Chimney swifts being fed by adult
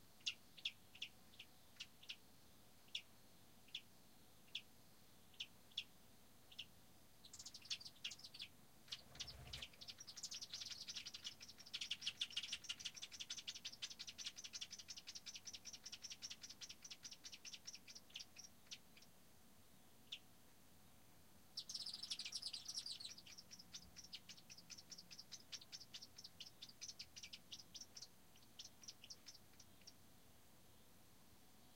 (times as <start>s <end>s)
6.5s 19.1s, 21.6s 30.0s